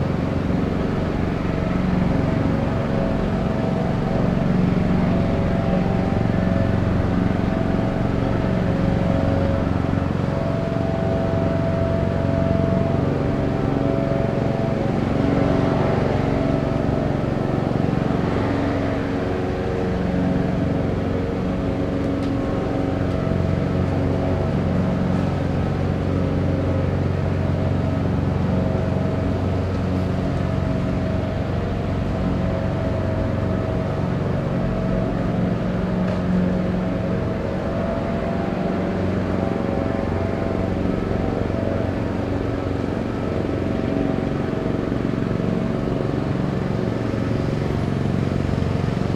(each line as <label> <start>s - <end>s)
mower 19.7s - 49.1s